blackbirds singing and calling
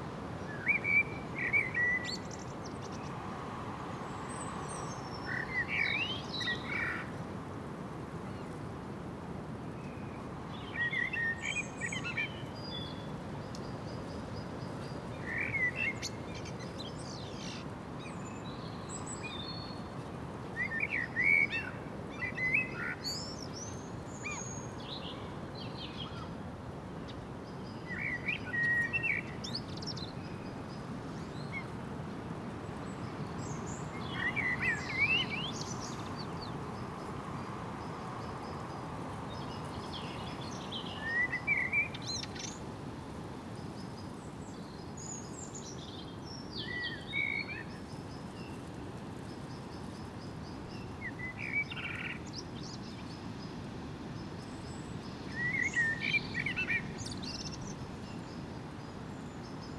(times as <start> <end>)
27.8 30.4, 33.4 36.6, 39.3 42.6, 54.4 58.4